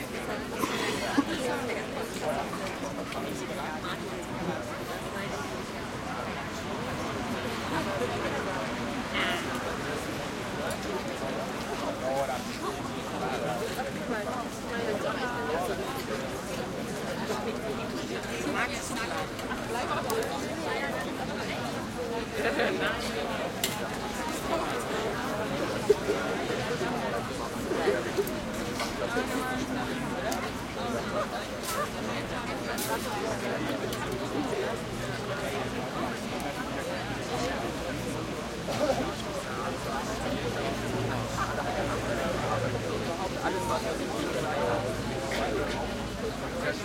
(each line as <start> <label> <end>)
0.0 crowd close german and english voices 46.8